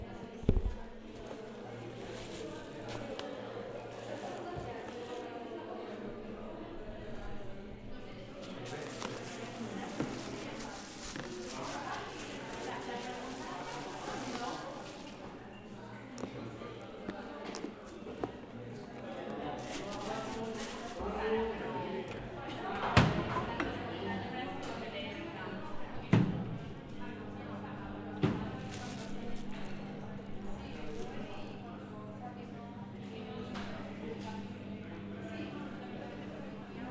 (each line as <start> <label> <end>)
0.0 groups of people talking 36.9
8.4 people putting their food in the microwaves 15.7